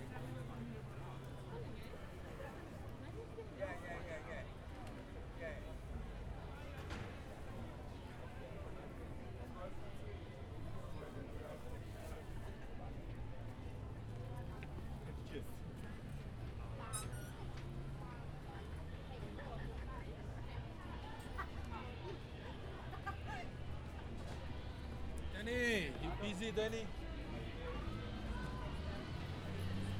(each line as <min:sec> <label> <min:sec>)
0:00.0 Passing chatter in different languages 0:29.9
0:10.8 market activity 0:29.9
0:19.7 street sounds 0:29.9